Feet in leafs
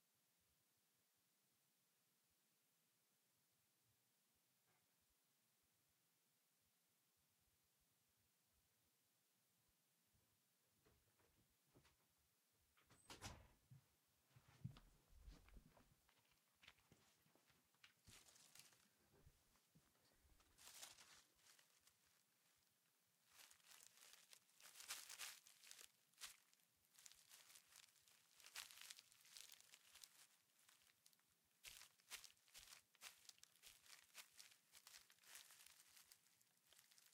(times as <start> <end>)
18.1 19.0, 20.4 22.2, 23.2 37.1